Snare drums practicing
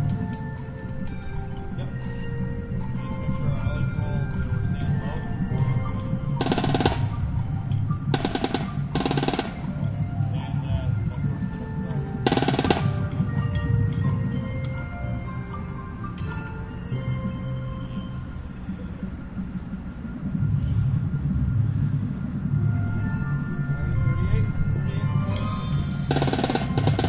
6.4 7.3, 8.1 9.8, 12.2 13.1, 26.1 27.0

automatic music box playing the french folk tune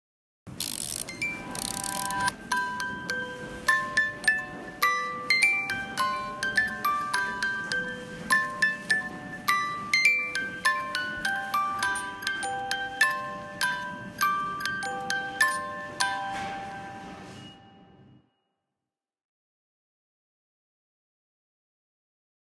0.6 18.0

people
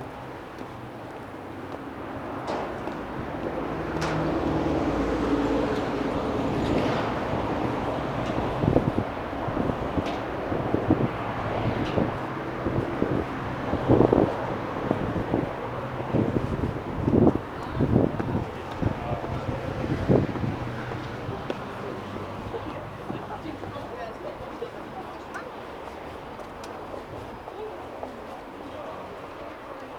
11.7 29.9

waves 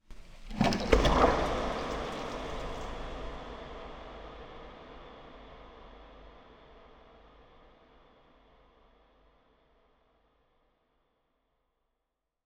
0.2 3.8

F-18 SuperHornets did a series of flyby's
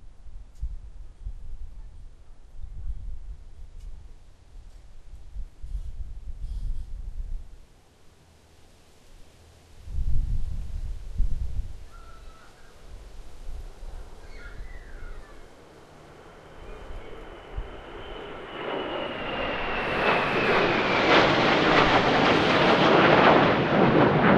13.3 24.3

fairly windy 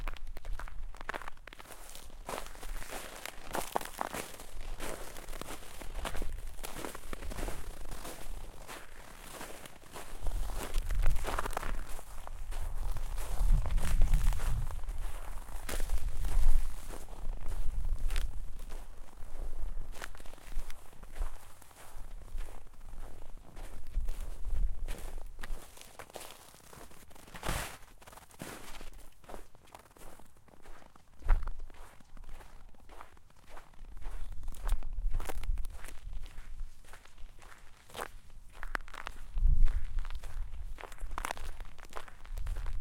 10.4 18.5

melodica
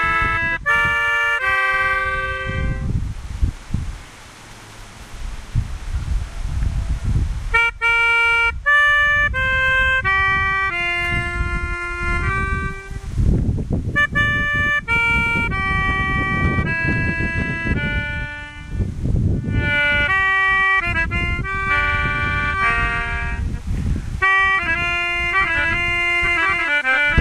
0.0 2.9, 7.5 13.2, 14.0 23.6, 24.2 27.2

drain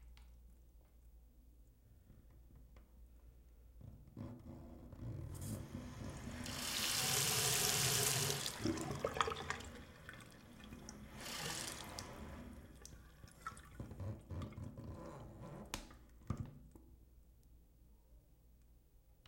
5.5 14.6

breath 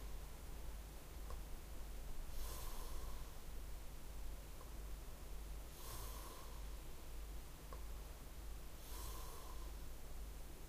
2.3 3.4, 5.7 6.8, 8.8 9.8

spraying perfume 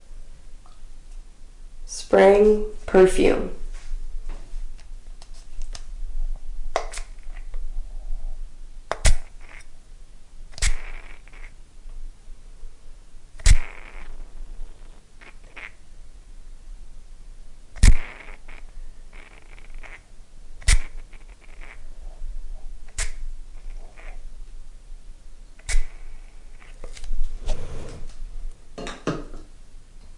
13.4 14.1, 17.8 20.0, 20.6 21.8, 25.6 27.0

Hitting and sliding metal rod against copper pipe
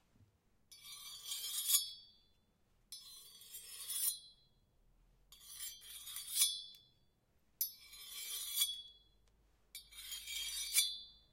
0.7 2.2, 2.9 4.5, 5.3 6.9, 7.6 9.1, 9.8 11.3

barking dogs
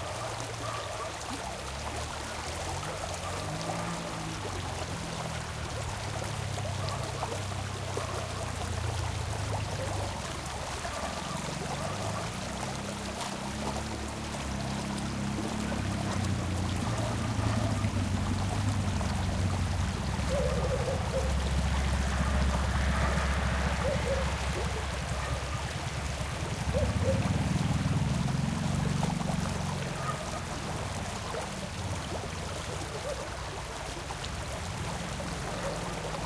0.0 1.2, 10.8 12.4, 15.6 18.0, 20.2 25.7, 26.6 27.4, 29.8 30.6, 35.5 36.2

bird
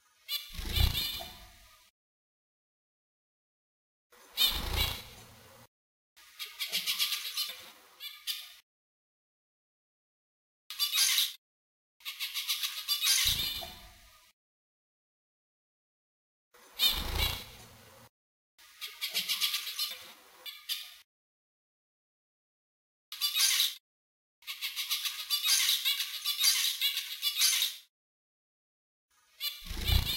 0.0 1.9, 4.2 8.6, 10.7 11.4, 12.0 14.3, 16.6 21.1, 23.1 23.8, 24.4 27.9, 29.1 30.1

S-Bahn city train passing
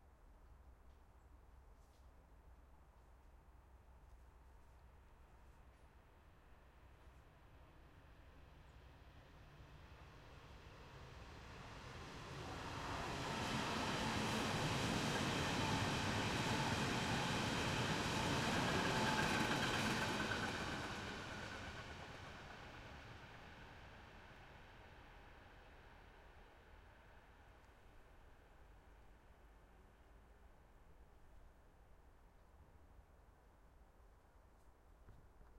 6.6 30.0

